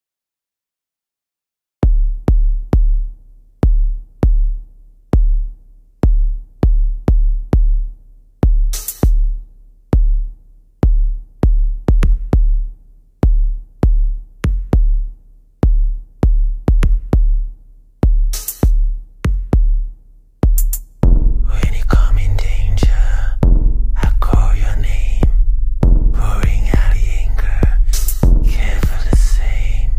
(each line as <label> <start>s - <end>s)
deep bass 10.0s - 29.9s
spoken word male vocal 21.4s - 25.4s
spoken word male vocal 26.1s - 29.9s